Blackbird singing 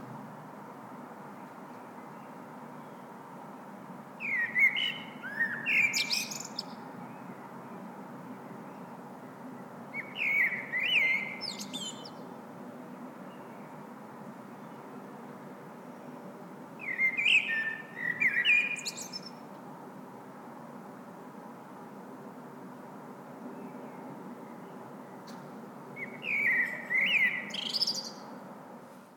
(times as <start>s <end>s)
4.2s 7.4s, 9.9s 12.3s, 16.8s 19.4s, 26.0s 28.3s